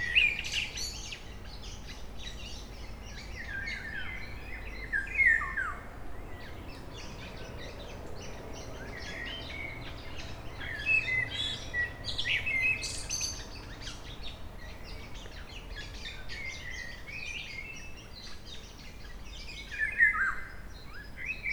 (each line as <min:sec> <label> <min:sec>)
0:00.0 Blackbirds 0:21.5